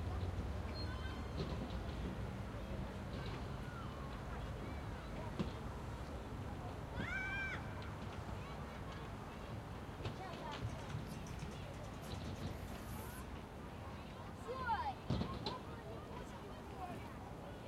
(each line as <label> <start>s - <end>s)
distant traffic 0.0s - 17.5s